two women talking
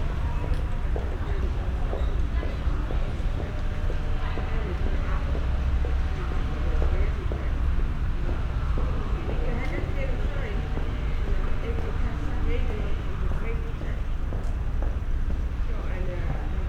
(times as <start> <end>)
8.7 14.4